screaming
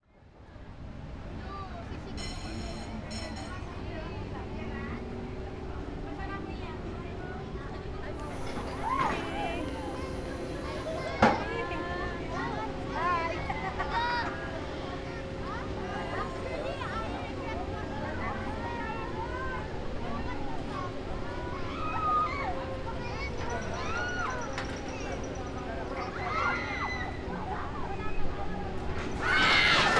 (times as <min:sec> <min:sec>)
0:26.2 0:27.2, 0:29.2 0:29.9